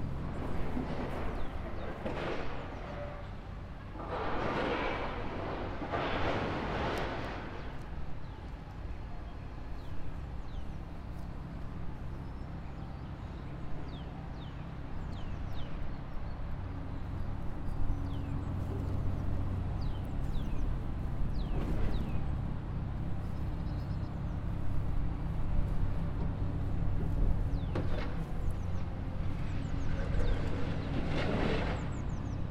birds sing 0:00.0 - 0:04.0
birds sing 0:07.2 - 0:32.5

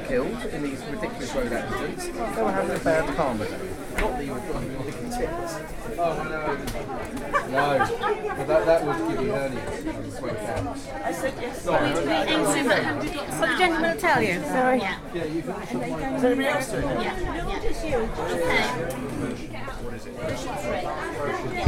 chatter 0:00.0 - 0:21.6

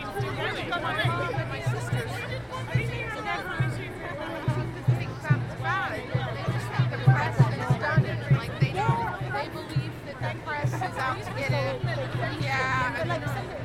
chat 0:00.0 - 0:13.6
drums 0:00.0 - 0:13.6

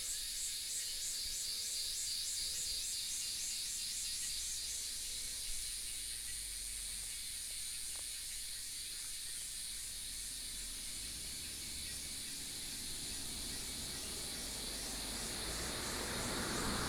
Cicadas cry 0:05.6 - 0:16.8

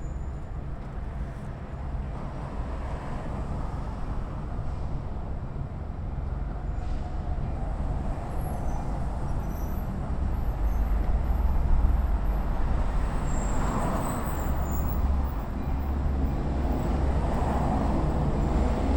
Elevated train passing overhead 0:01.5 - 0:18.9
auto traffic passing 0:10.0 - 0:18.9

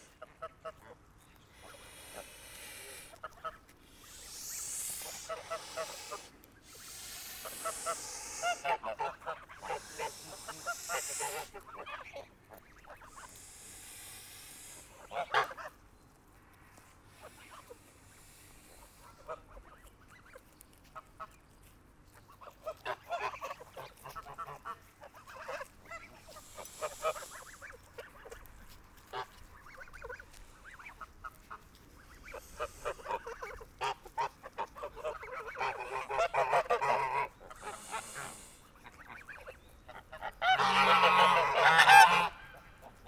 Angry geese 0:00.0 - 0:15.8
Angry geese 0:17.1 - 0:21.4
Angry geese 0:22.4 - 0:43.0

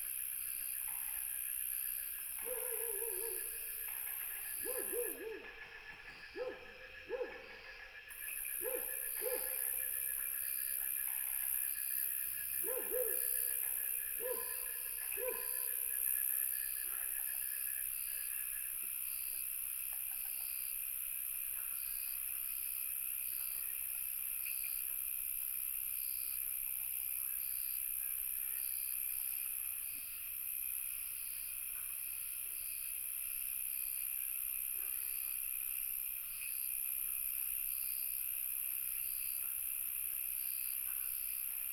Dogs barking 0:02.4 - 0:03.6
Frogs chirping 0:02.5 - 0:07.6
Dogs barking 0:04.6 - 0:05.4
Dogs barking 0:06.4 - 0:07.5
Dogs barking 0:08.6 - 0:09.8
Dogs barking 0:12.6 - 0:15.8

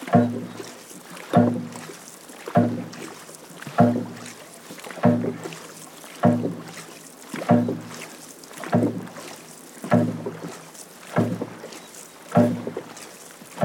rhythms created by the paddlers 0:00.0 - 0:13.6

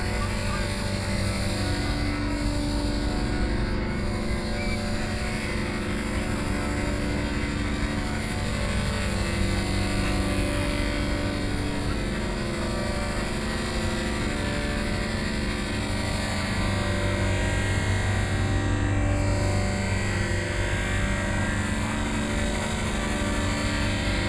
crowd 0:00.0 - 0:18.8

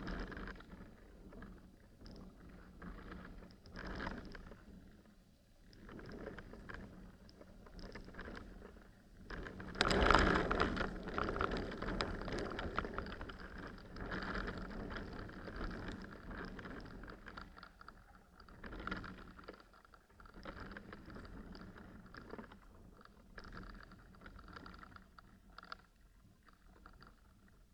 a branch in a wind 0:07.7 - 0:17.6

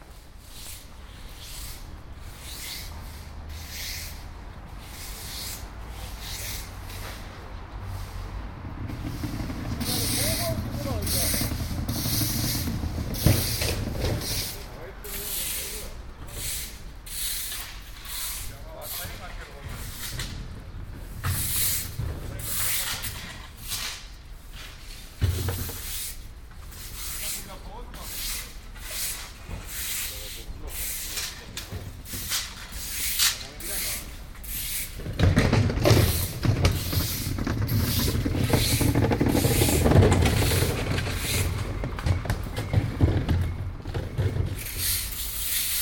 workers scratching resistant dirt from the streets with iron rakes 0:00.0 - 0:45.8

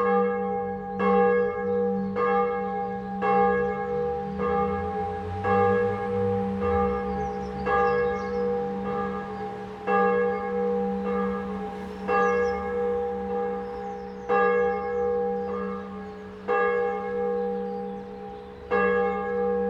traffic 0:00.6 - 0:19.6

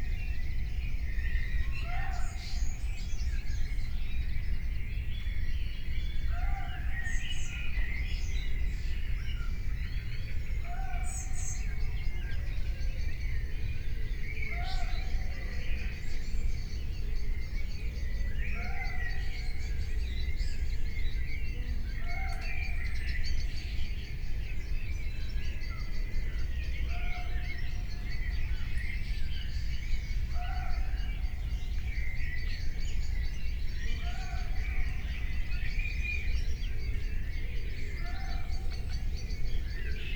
muntjac calls in the background 0:10.5 - 0:40.1

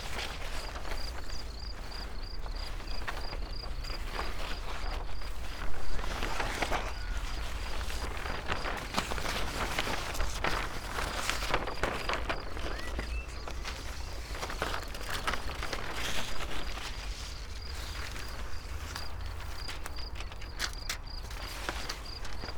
wind unfolds scroll books 0:00.0 - 0:22.5

